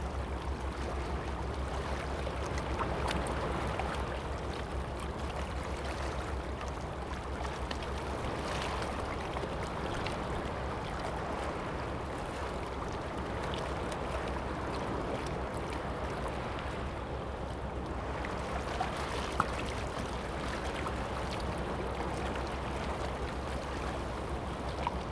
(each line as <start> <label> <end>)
0.0 waves 25.1